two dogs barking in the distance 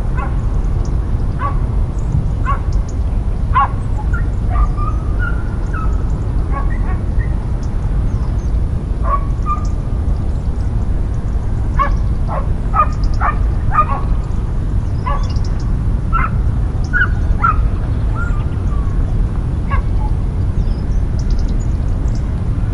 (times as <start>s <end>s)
0.2s 0.4s, 1.4s 1.7s, 2.4s 2.8s, 3.5s 7.4s, 9.0s 9.8s, 11.8s 14.2s, 15.0s 15.5s, 16.1s 18.4s, 19.7s 20.2s